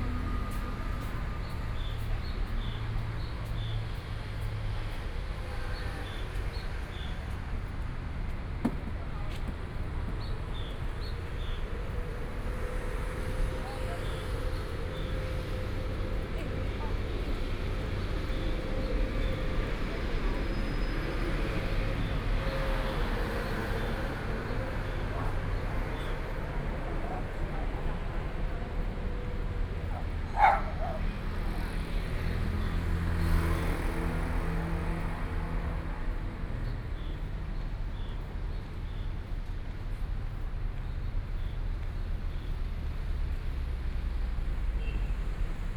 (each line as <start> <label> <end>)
0.0 Traffic Sound 45.7
0.0 walking on the road 45.7